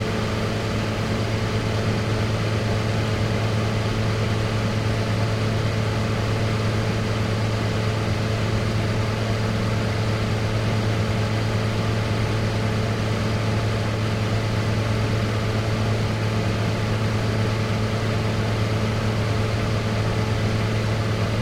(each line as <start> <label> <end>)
0.0 Remote cooling unit - condenser 21.4